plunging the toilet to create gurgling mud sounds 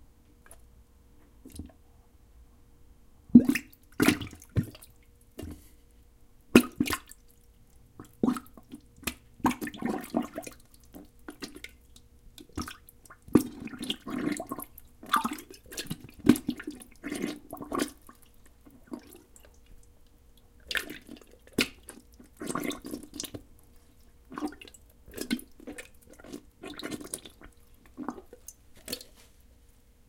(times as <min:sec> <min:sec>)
0:03.3 0:05.7, 0:06.5 0:07.2, 0:07.9 0:19.8, 0:20.4 0:29.1